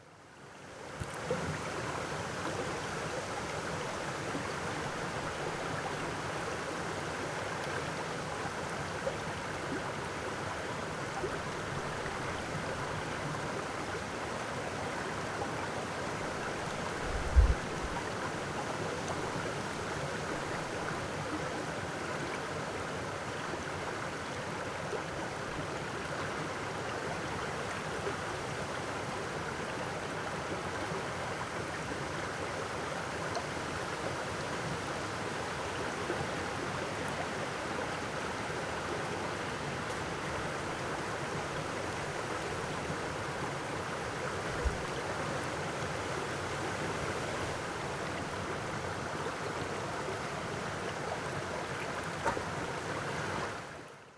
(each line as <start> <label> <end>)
0.0 Water streaming in the rapids 54.1